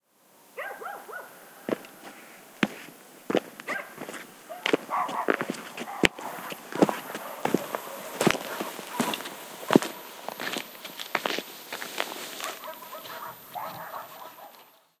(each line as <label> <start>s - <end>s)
dogs barking in background 0.6s - 1.8s
steps approaching on dirt road 1.7s - 15.0s
dogs barking in background 3.6s - 10.1s
dogs barking in background 12.4s - 15.0s